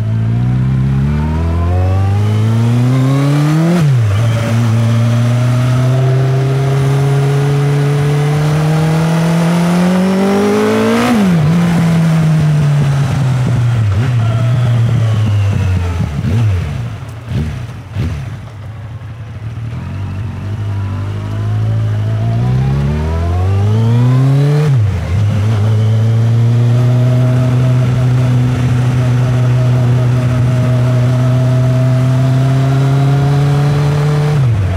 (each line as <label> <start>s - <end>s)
motorbike 0.0s - 34.7s